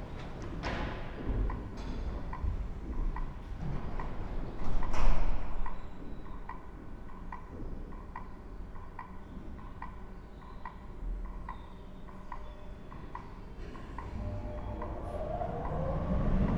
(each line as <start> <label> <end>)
0.0 a train is arriving 7.5
9.6 a train is arriving 16.5